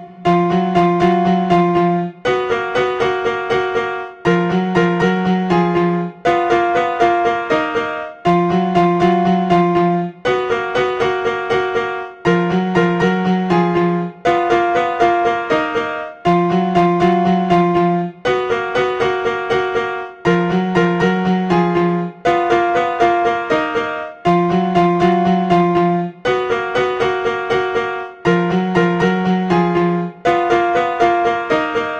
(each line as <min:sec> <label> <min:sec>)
0:00.0 piano 0:31.9